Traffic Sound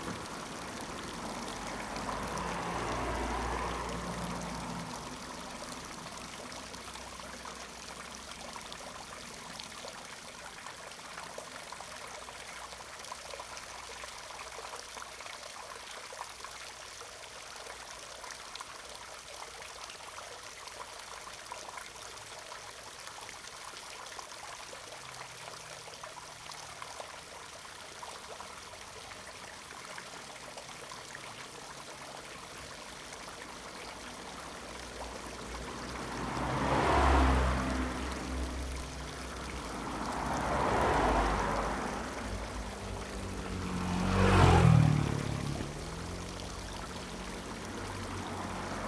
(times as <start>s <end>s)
0.0s 14.0s, 27.9s 48.8s